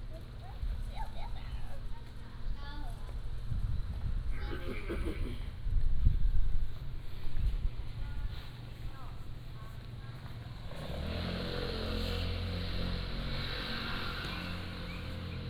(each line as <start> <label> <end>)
6.6 Traffic Sound 15.4